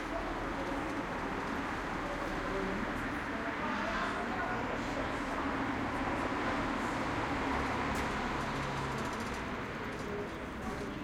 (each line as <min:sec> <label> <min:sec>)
0:00.0 People talking in front of the bar 0:11.0
0:00.0 cars passing by on the street 0:11.0